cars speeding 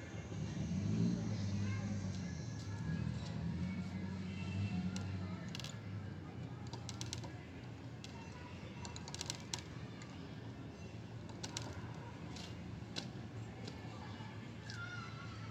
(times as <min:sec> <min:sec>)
0:00.1 0:05.3